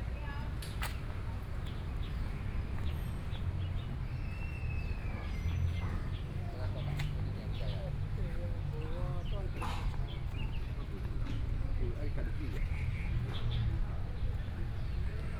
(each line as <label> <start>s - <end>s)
Traffic Sound 0.0s - 15.3s
Walking through the park 0.0s - 15.3s
Birdsong sounds 0.1s - 11.8s